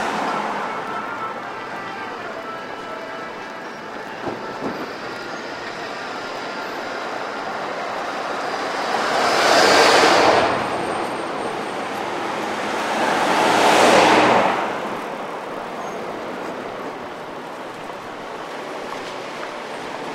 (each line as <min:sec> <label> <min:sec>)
0:00.0 street sounds 0:20.1